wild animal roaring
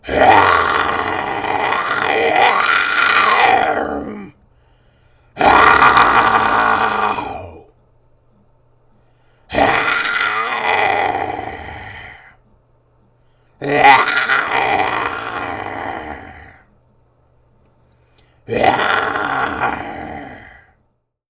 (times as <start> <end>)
0.0 4.4, 5.4 7.7, 9.5 12.4, 13.6 16.6, 18.5 20.8